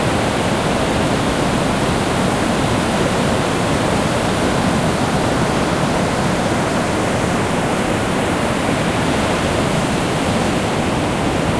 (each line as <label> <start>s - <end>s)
waves 0.0s - 11.5s
wind 0.0s - 11.5s